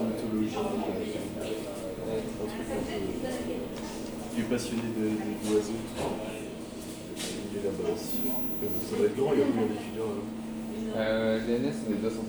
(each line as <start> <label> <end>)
0.0 People talking while they wait their train 12.2